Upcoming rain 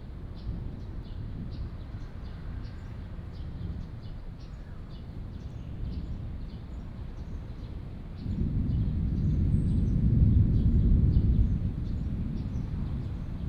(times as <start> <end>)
5.0 13.4